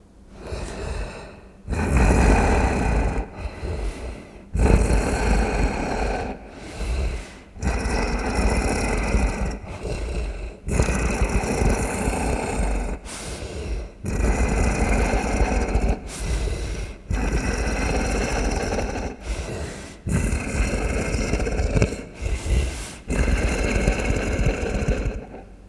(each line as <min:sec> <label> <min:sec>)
0:00.0 slow, steady pant of a monster 0:25.6
0:00.4 growl 0:25.6